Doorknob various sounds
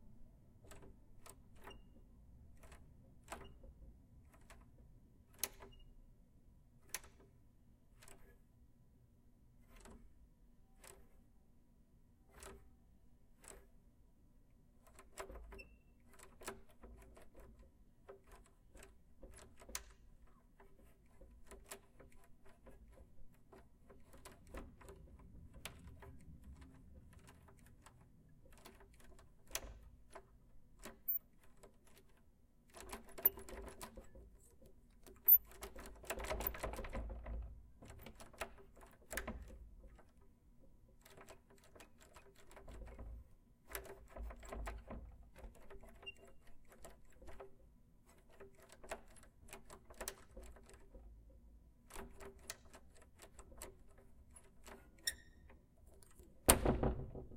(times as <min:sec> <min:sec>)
0:14.8 0:40.2, 0:41.0 0:51.2, 0:51.9 0:57.3